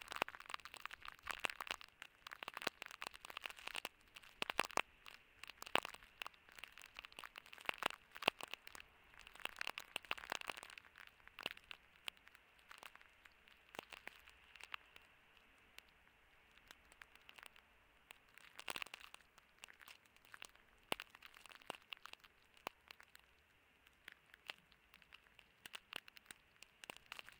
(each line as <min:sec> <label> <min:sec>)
0:00.0 snow fall 0:27.3